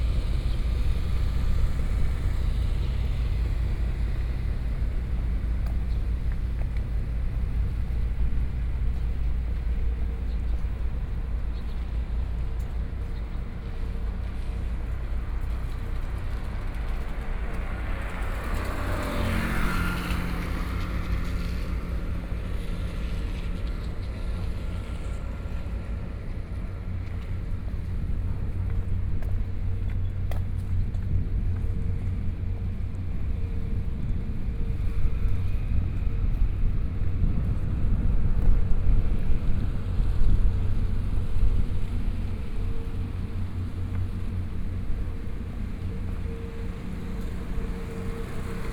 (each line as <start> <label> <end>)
0.0 Fishing boat motor sound 11.3